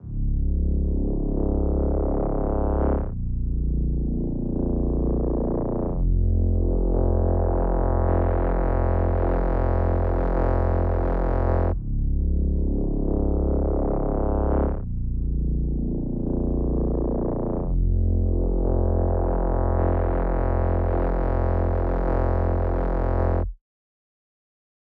synth bass 0.0 - 23.6

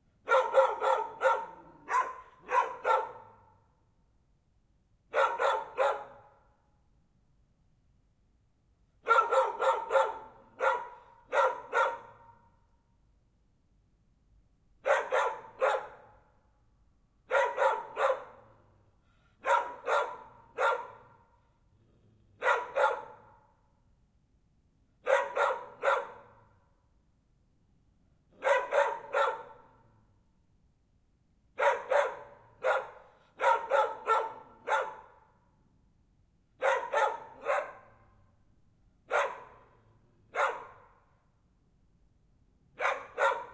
dogs are barking 0.2 - 3.5
dogs are barking 5.1 - 6.3
dogs are barking 9.0 - 12.3
dogs are barking 14.8 - 16.1
dogs are barking 17.3 - 18.6
dogs are barking 19.4 - 21.2
dogs are barking 22.4 - 23.4
dogs are barking 25.1 - 26.4
dogs are barking 28.4 - 29.8
dogs are barking 31.6 - 35.2
dogs are barking 36.6 - 38.0
dogs are barking 39.1 - 39.7
dogs are barking 40.3 - 40.9
dogs are barking 42.8 - 43.5

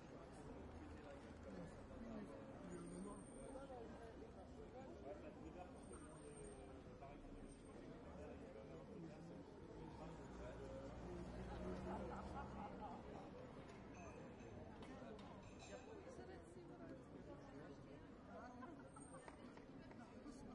people 0.0 - 20.5

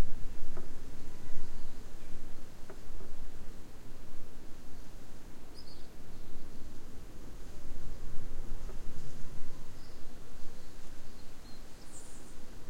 wind blowing through house 0.0 - 12.6
Birds singing 5.5 - 6.7
Birds singing 9.7 - 12.5

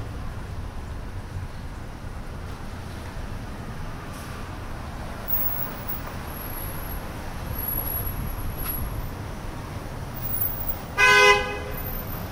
distant street noise 0.0 - 12.3
wind 0.0 - 12.3
loud car honk 11.0 - 12.0

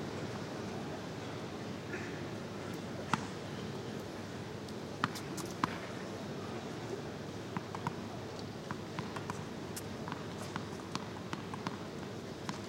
tennis match 5.0 - 6.1
tennis match 7.5 - 12.6

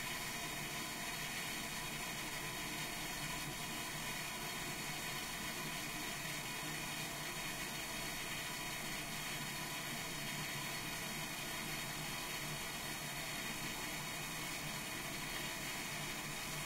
Toilet flush 0.0 - 16.6

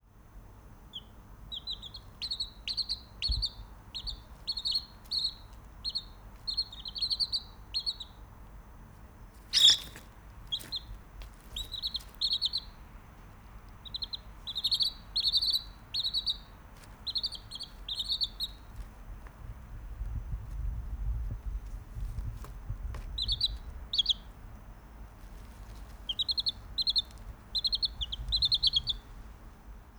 Wood Sandpiper Bird Calls 0.9 - 8.2
Wood Sandpiper Bird Calls 9.5 - 10.9
Wood Sandpiper Bird Calls 11.5 - 12.8
Wood Sandpiper Bird Calls 13.8 - 18.7
Wood Sandpiper Bird Calls 23.2 - 24.3
Wood Sandpiper Bird Calls 26.0 - 29.2

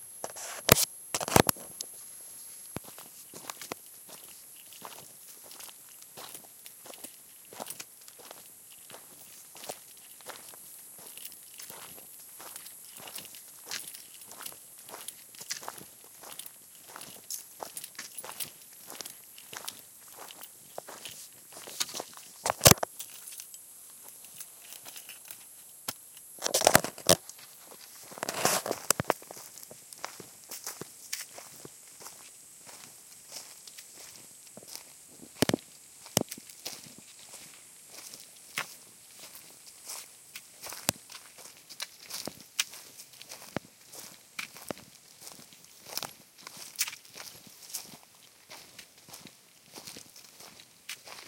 crickets 0.0 - 51.2
man walking 1.2 - 51.2

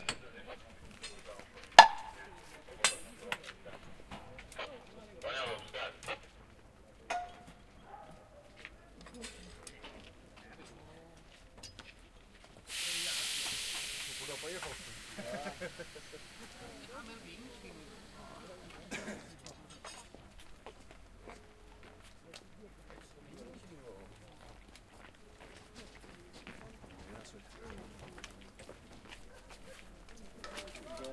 Mallets hitting train parts 1.8 - 2.2
Mallets hitting train parts 7.1 - 7.5

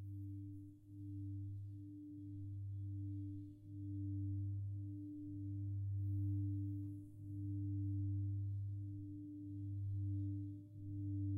Singing Bowl 0.0 - 11.3

